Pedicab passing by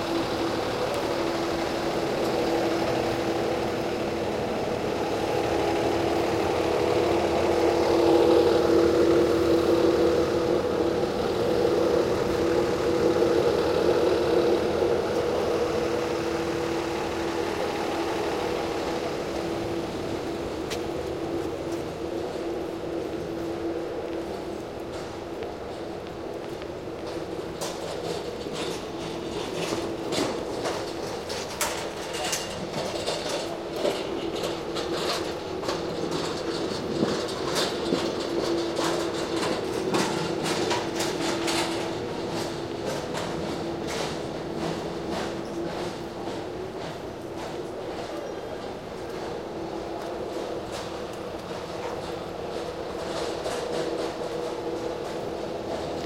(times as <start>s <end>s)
0.0s 32.0s